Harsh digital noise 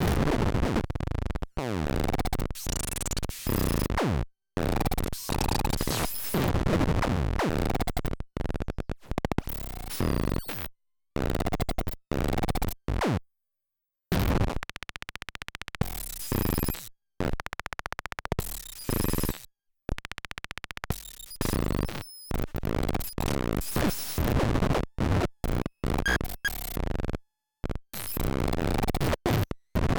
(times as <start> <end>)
25.9 26.8